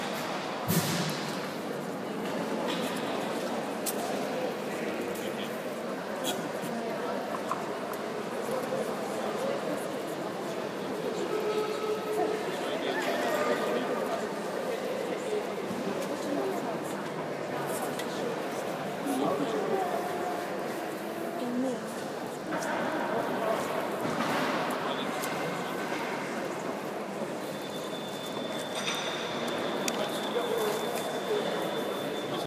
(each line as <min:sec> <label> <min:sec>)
0:00.0 echoing chatter 0:32.4